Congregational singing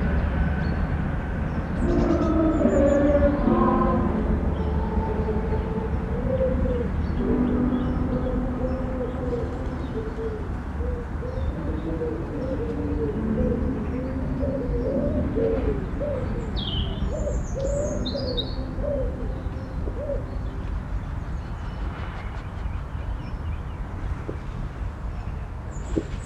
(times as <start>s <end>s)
0.0s 20.8s